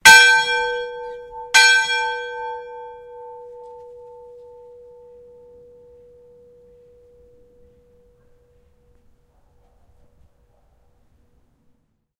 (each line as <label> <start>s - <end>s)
large cast iron Town Bell 0.0s - 9.2s